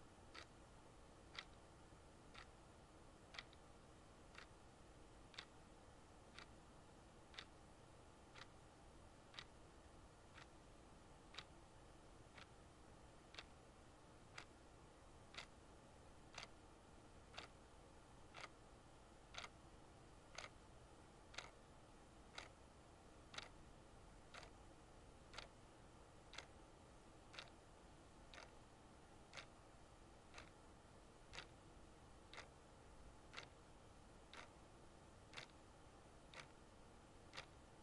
0.3s Clock Ticking 0.6s
1.2s Clock Ticking 1.7s
2.3s Clock Ticking 2.6s
3.2s Clock Ticking 3.7s
4.3s Clock Ticking 4.6s
5.2s Clock Ticking 5.6s
6.3s Clock Ticking 6.6s
7.3s Clock Ticking 7.6s
8.3s Clock Ticking 8.5s
9.3s Clock Ticking 9.6s
10.3s Clock Ticking 10.6s
11.3s Clock Ticking 11.6s
12.3s Clock Ticking 12.6s
13.3s Clock Ticking 13.6s
14.3s Clock Ticking 14.6s
15.2s Clock Ticking 15.6s
16.3s Clock Ticking 16.6s
17.3s Clock Ticking 17.6s
18.3s Clock Ticking 18.6s
19.2s Clock Ticking 19.6s
20.2s Clock Ticking 20.6s
21.3s Clock Ticking 21.6s
22.3s Clock Ticking 22.6s
23.3s Clock Ticking 23.6s
24.2s Clock Ticking 24.6s
25.2s Clock Ticking 25.6s
26.2s Clock Ticking 26.6s
27.3s Clock Ticking 27.7s
28.3s Clock Ticking 28.6s
29.2s Clock Ticking 29.6s
30.3s Clock Ticking 30.6s
31.2s Clock Ticking 31.6s
32.2s Clock Ticking 32.6s
33.2s Clock Ticking 36.6s
37.2s Clock Ticking 37.7s

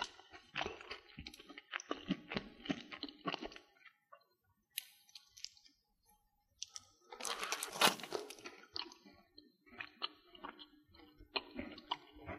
0.0s Candy Bar Mastication 5.8s
6.6s Candy Bar Mastication 12.3s
6.6s Candy unwrapped 8.7s

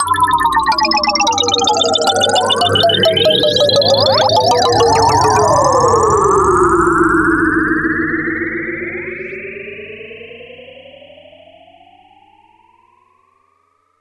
0.0s 8bit BigTeleport 9.5s

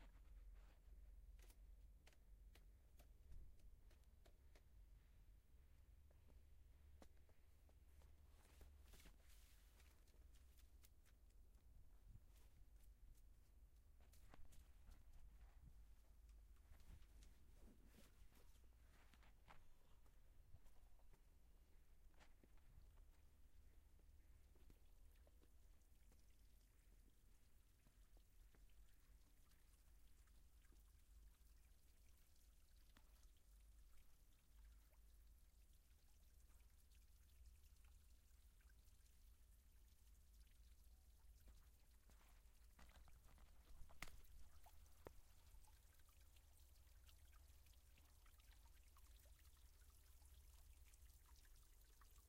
0.0s water 52.2s

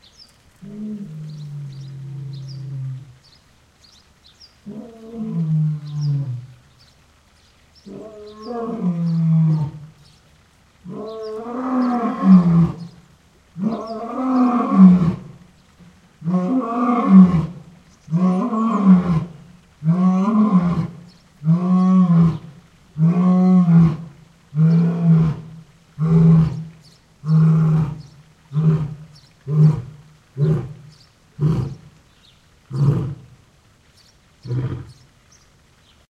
0.0s water 36.0s
10.8s raven 32.0s
27.3s Lion roaring 30.8s
34.4s raven 35.1s

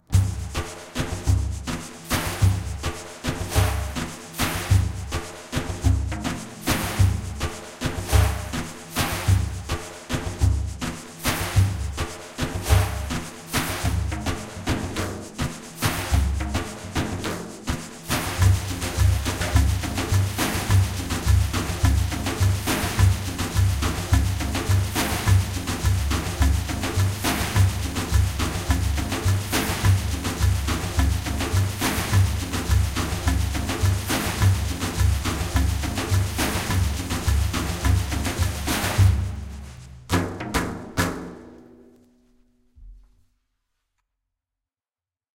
0.0s BassDarbuka 41.9s
0.0s shaker 43.1s

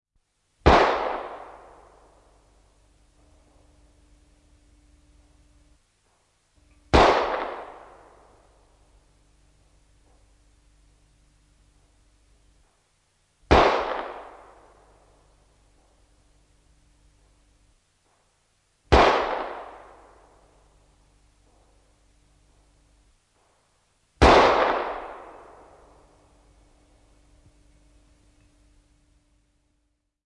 24.2s Old pistol, a few shots 25.6s

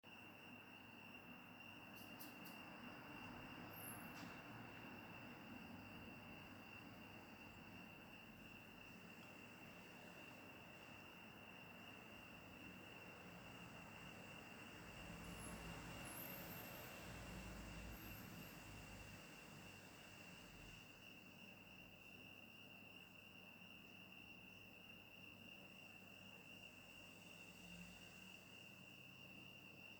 0.1s Cicadas 29.9s
13.0s passing cars 20.9s

